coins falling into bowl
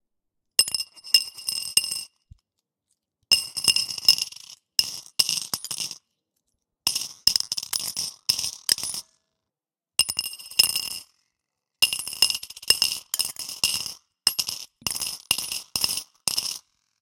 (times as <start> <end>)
3.4 6.0, 6.9 9.0, 11.8 16.6